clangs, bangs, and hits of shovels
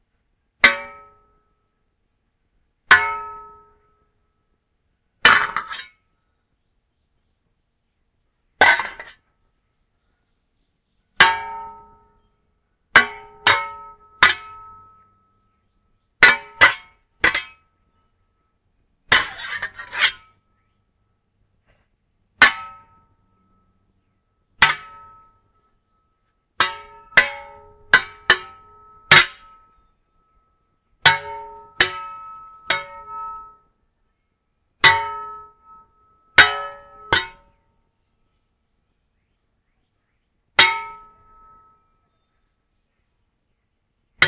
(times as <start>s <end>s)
5.2s 6.0s, 8.6s 9.3s, 13.0s 15.1s, 16.2s 17.6s, 19.1s 20.4s, 21.6s 23.1s, 24.6s 25.3s, 26.6s 29.8s, 31.0s 33.6s, 34.8s 37.6s, 40.6s 41.7s